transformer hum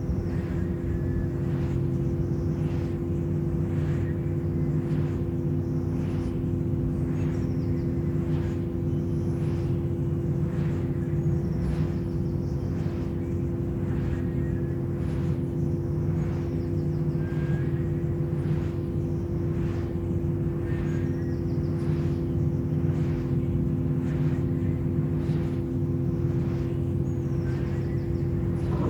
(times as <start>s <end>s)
22.9s 28.8s